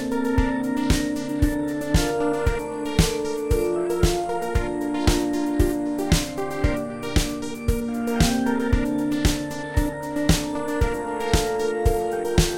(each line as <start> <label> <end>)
0.0 synthesizer 12.5